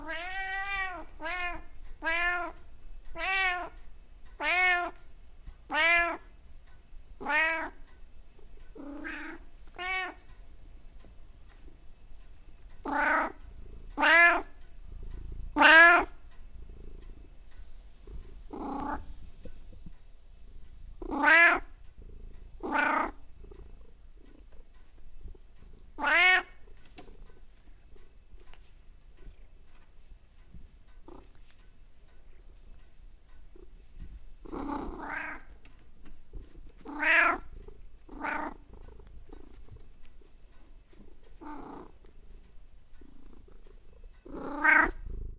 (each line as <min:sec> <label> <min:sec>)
0:00.0 meow 0:02.6
0:03.2 meow 0:03.8
0:04.4 meow 0:05.0
0:05.7 meow 0:06.3
0:07.2 meow 0:07.8
0:08.6 Cats purr 0:10.2
0:08.9 meow 0:10.2
0:12.8 Cats purr 0:28.4
0:14.0 meow 0:14.5
0:15.6 meow 0:16.1
0:21.1 meow 0:21.7
0:26.0 meow 0:26.5
0:31.0 Cats purr 0:31.6
0:32.4 Cats purr 0:45.3
0:36.9 meow 0:37.4
0:44.5 meow 0:45.0